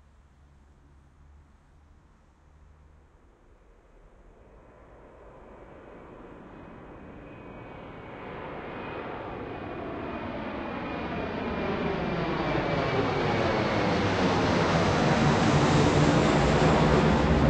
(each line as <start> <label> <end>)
2.6 Jet airplane take off with strong ground whoosh 17.4